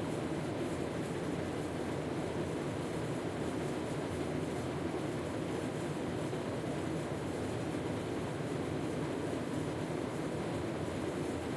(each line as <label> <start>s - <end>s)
Air Conditioner Run 0.0s - 11.5s